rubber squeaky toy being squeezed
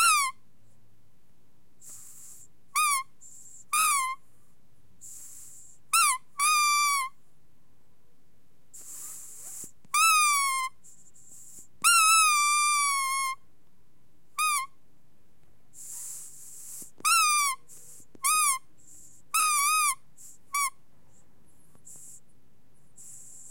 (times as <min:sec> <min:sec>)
0:00.0 0:00.4, 0:02.8 0:03.1, 0:03.7 0:04.2, 0:05.9 0:07.2, 0:09.4 0:10.8, 0:11.5 0:13.4, 0:14.4 0:14.7, 0:15.8 0:20.8